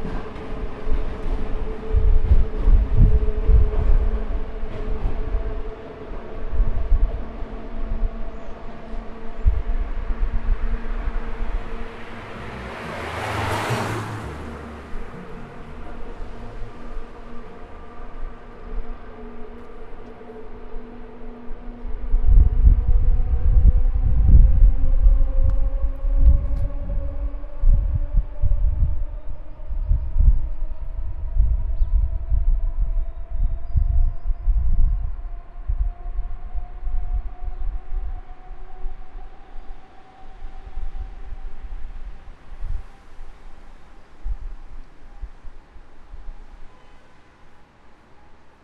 train leaving the Atxuri station 0:00.0 - 0:34.1
cars passing by my side 0:08.9 - 0:20.6
train leaving the Atxuri station 0:34.9 - 0:48.6

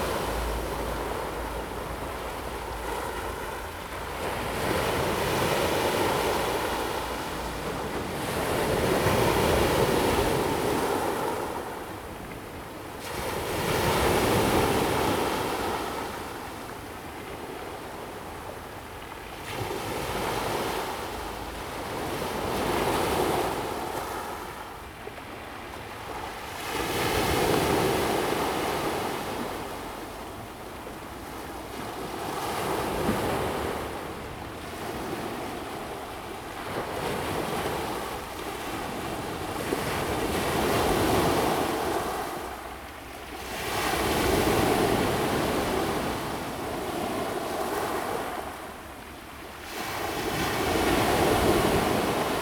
waves 0:00.0 - 0:52.4

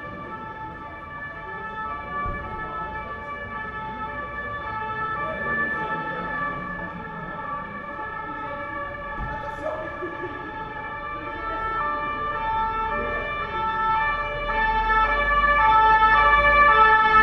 Street sounds 0:00.0 - 0:17.2

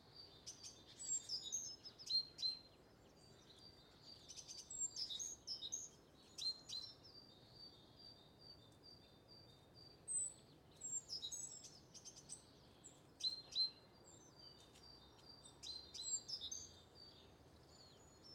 blackbird taking their breakfast in the grass 0:07.0 - 0:18.3

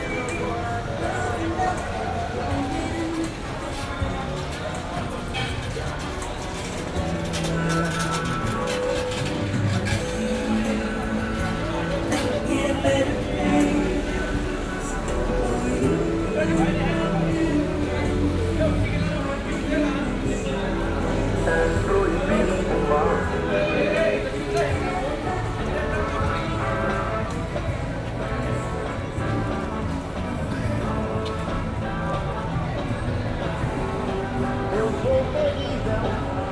cd-sellers with trolleys and audio equipement for cars 0:00.0 - 0:36.5

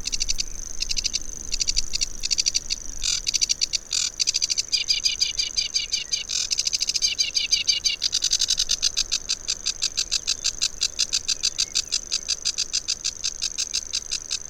bird song from grasshopper warbler 0:00.0 - 0:14.4

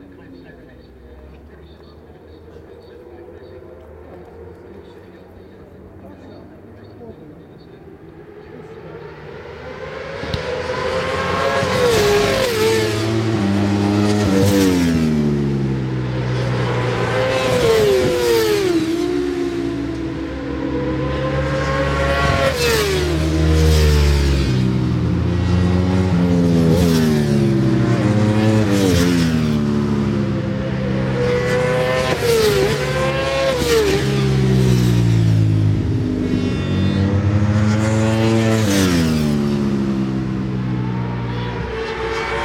Superbikes 0:00.0 - 0:42.4

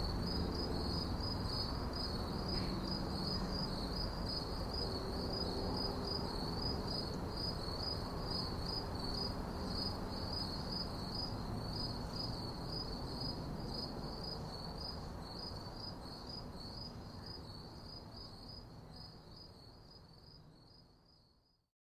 Late Night Crickets 0:00.0 - 0:21.6

